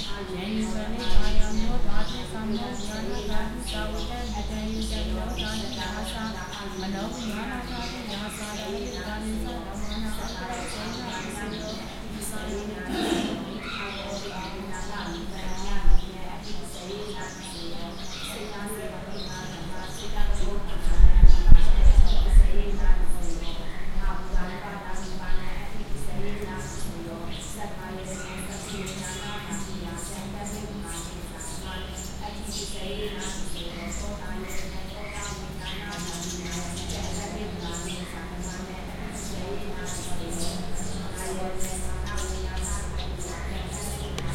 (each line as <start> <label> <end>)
0.0 birds 44.3
0.0 chanting 44.3